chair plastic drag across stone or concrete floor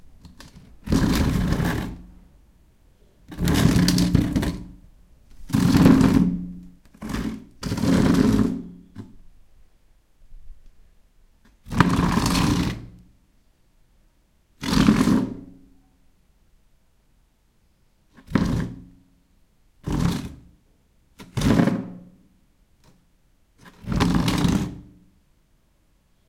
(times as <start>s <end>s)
0.2s 2.2s, 3.3s 9.2s, 11.5s 13.1s, 14.6s 15.6s, 18.1s 19.0s, 19.8s 20.5s, 21.2s 22.1s, 23.6s 25.0s